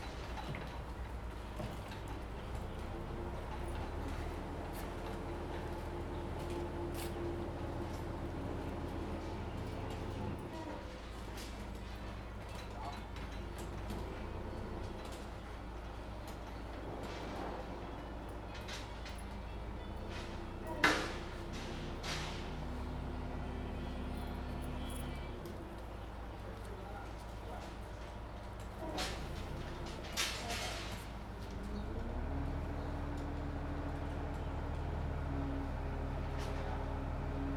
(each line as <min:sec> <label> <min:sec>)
0:18.6 Construction Sound 0:37.5